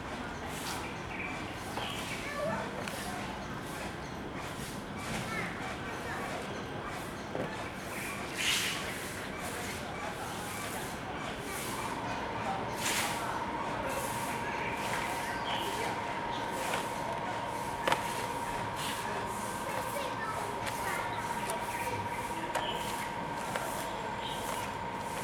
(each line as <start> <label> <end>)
8.4 Sweep the floor 9.8
10.4 Sweep the floor 25.2